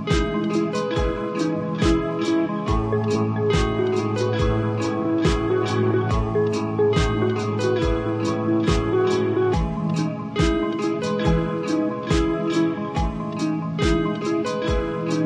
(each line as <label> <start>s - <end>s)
drum loop 0.0s - 15.2s
electric guitar 0.0s - 15.2s